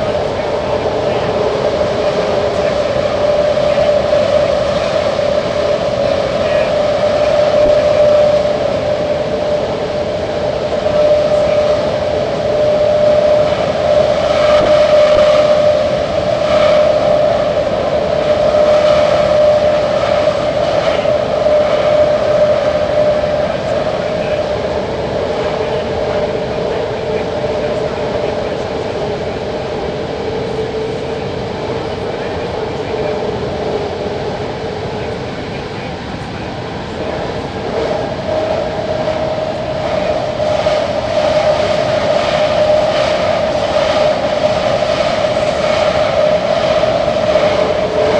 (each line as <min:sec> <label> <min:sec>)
0:00.0 ride through a tube 0:48.1